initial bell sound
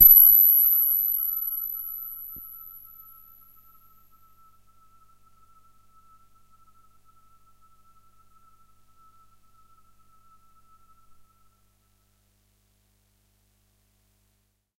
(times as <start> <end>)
0.0 3.5